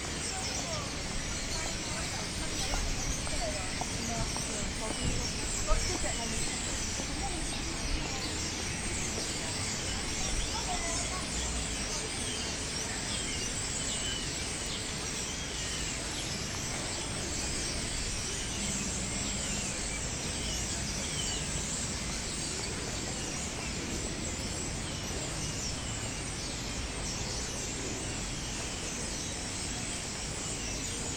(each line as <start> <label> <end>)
0.0 migratory birds assembling in the sycamore trees 31.1
0.2 funny pedestrians comments 12.1